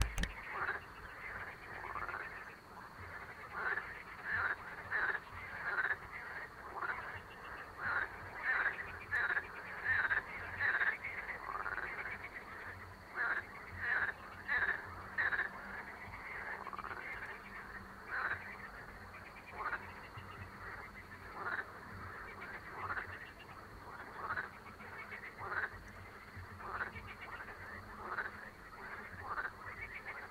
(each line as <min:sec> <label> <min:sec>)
0:00.0 Babble of Frogs 0:30.3
0:00.0 insects 0:30.3